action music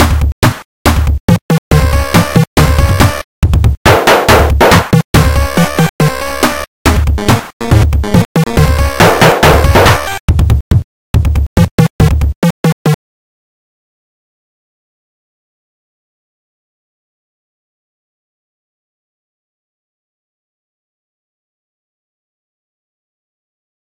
0.0 13.0

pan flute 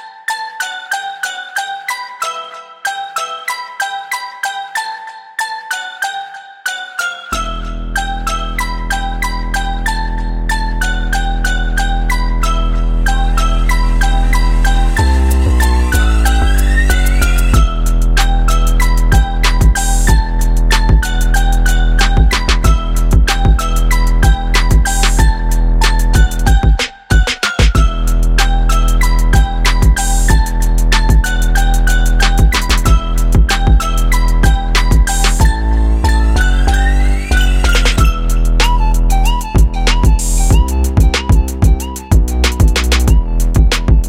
12.5 44.0

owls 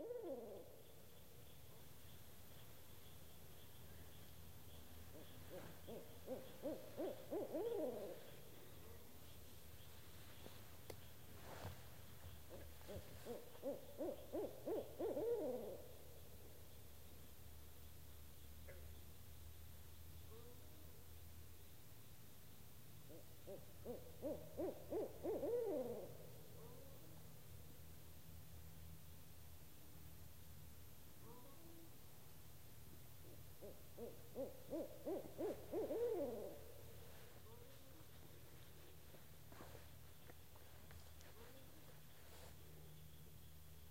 0.0 0.9, 5.1 8.4, 12.5 15.9, 23.1 26.9, 33.2 36.7

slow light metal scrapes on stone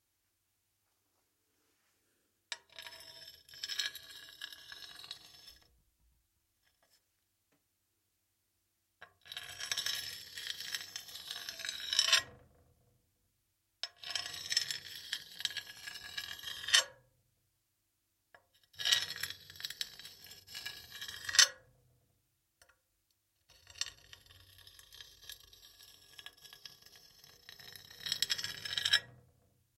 2.5 5.8, 6.6 7.0, 9.2 12.4, 13.9 17.0, 18.7 21.7, 23.5 29.3

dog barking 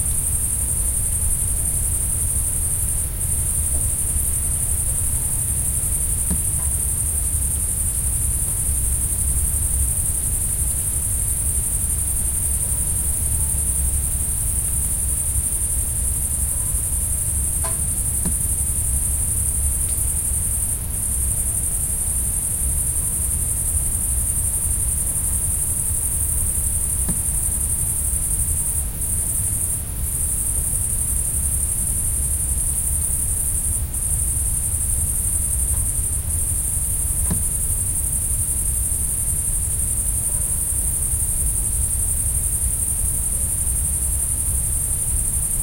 40.3 40.6

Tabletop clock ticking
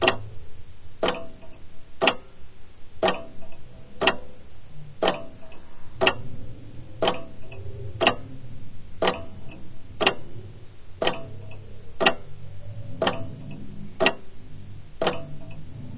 0.0 0.3, 1.0 2.3, 3.0 4.3, 5.0 6.3, 7.0 8.2, 9.0 10.2, 11.0 14.3, 15.0 15.7

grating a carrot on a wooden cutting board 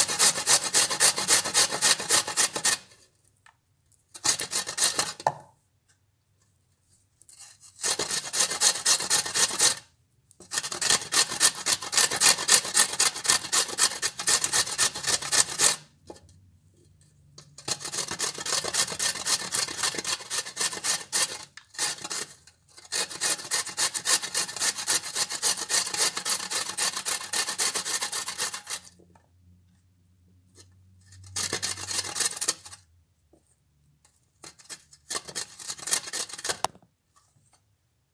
0.0 2.9, 4.2 5.2, 7.4 16.2, 17.4 29.0, 31.0 32.8, 34.4 36.7

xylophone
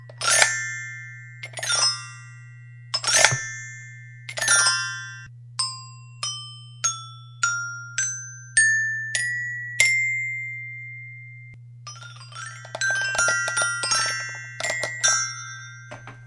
4.3 10.1, 11.9 16.2

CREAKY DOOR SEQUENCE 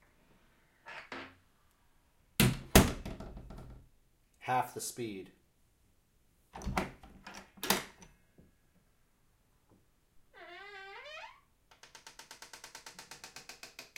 10.3 13.9

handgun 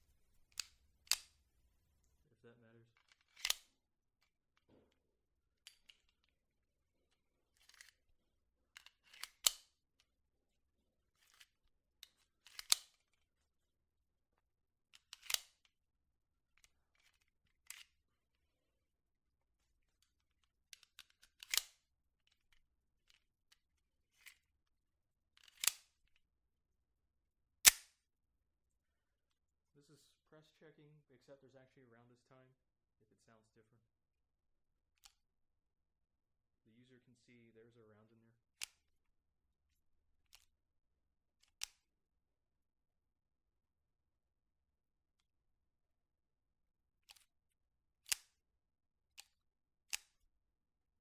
9.1 9.7, 12.5 13.0, 15.1 15.6, 25.5 25.9, 27.6 28.0

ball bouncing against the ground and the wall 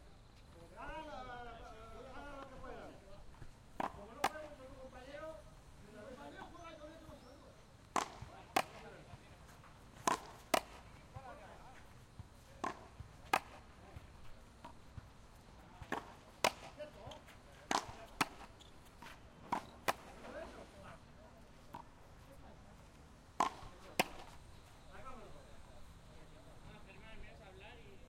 3.4 4.6, 7.8 11.6, 12.2 20.5, 23.4 24.4

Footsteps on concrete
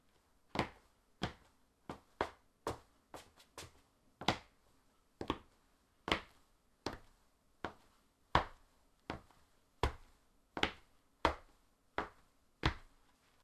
0.6 4.4

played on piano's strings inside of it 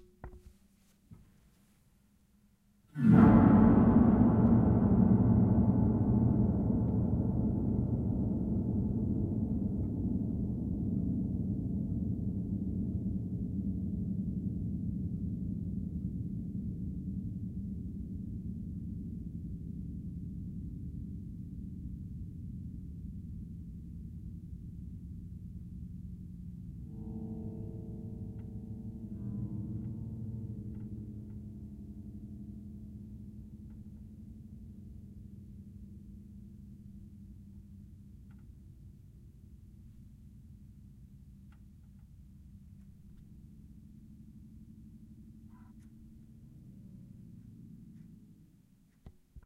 24.3 38.9

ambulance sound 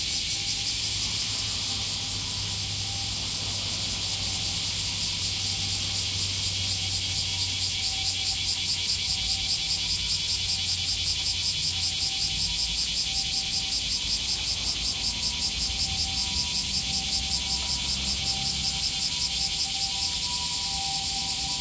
15.4 21.6

